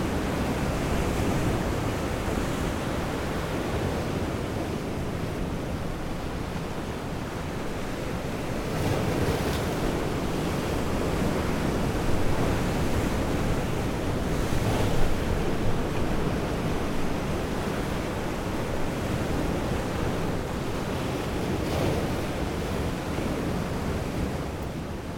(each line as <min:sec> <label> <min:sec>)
0:00.0 Heavy waves on a rock 0:25.0